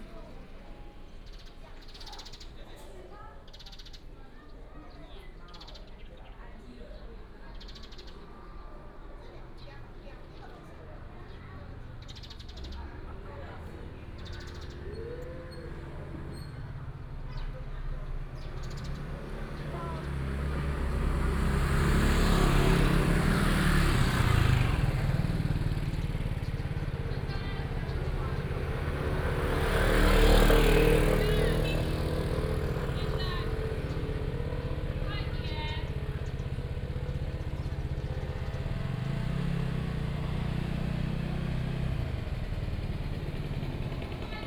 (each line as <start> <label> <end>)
10.5 traffic sound 44.4
11.3 Birds sound 44.2